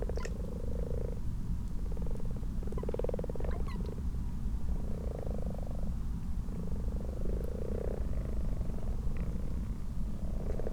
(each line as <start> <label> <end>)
0.0 common toads 1.2
0.0 common frogs 10.7
1.8 common toads 4.0